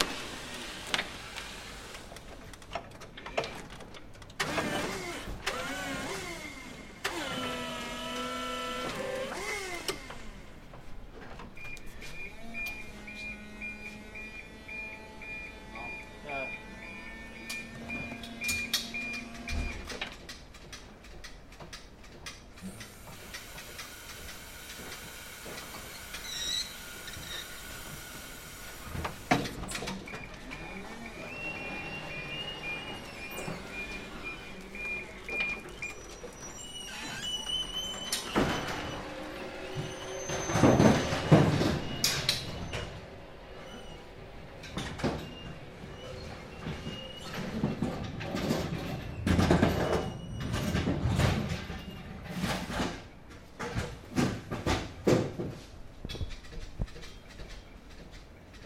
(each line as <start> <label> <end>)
0.0 electric forklift hydraulic 2.2
4.4 electric forklift hydraulic 10.6
22.6 electric forklift hydraulic 52.9